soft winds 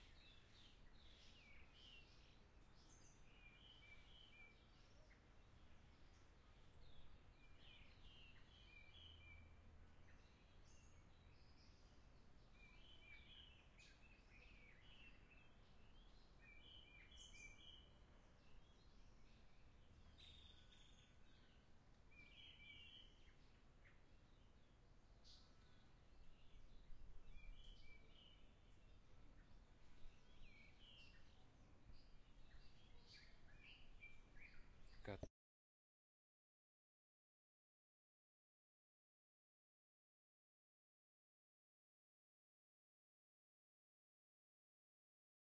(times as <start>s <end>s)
0.0s 35.2s